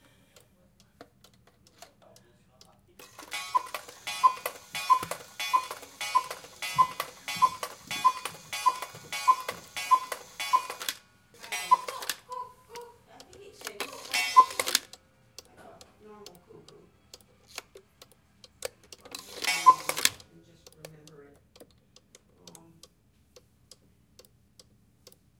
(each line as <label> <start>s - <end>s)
cuckoo 3.5s - 10.8s
cuckoo 11.6s - 13.0s
cuckoo 14.2s - 14.7s
cuckoo 19.5s - 20.0s